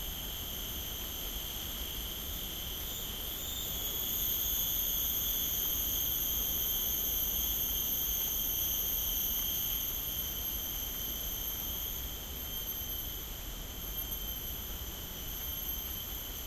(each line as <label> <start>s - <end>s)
Very loud cicadas 0.0s - 16.4s